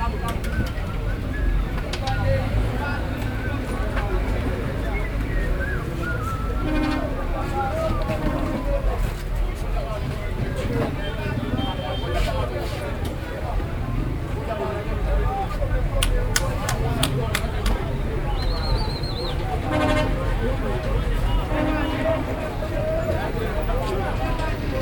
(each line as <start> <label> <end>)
16.0 Traders 18.0